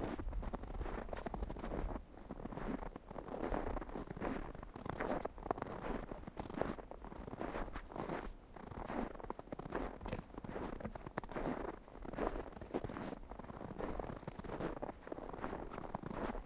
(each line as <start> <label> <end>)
0.0 footsteps 16.4